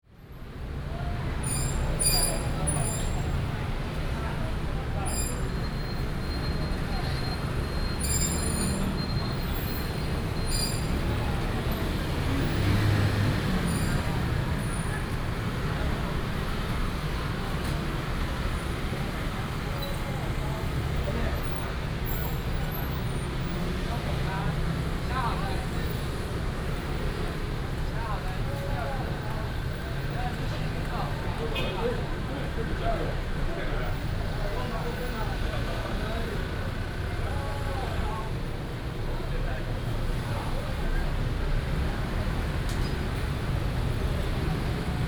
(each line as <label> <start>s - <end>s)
traffic sound 0.1s - 45.0s
Cries of street vendors 28.7s - 38.7s